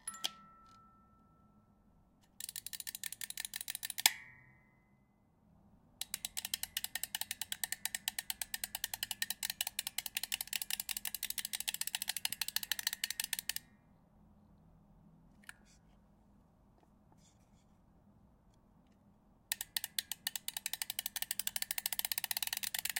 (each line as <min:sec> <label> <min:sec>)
0:00.0 rewind of metronome 0:01.1
0:02.4 music box winding with different speeds 0:04.1
0:06.0 music box winding with different speeds 0:13.6
0:19.5 music box winding with different speeds 0:22.9
0:19.5 rewind of metronome 0:22.9